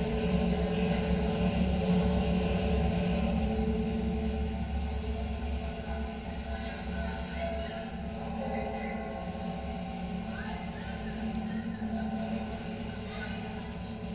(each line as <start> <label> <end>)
0.0 escalators provide a constant drone 14.1